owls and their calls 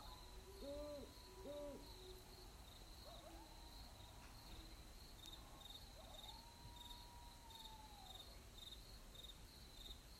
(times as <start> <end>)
0.0 2.2